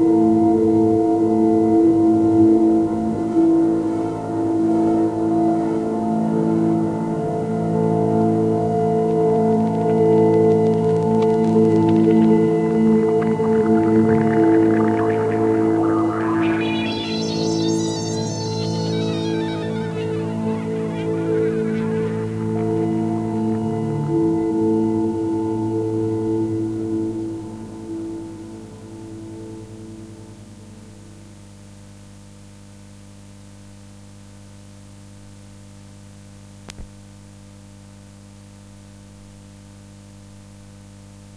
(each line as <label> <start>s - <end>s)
tape saturation 7.7s - 26.3s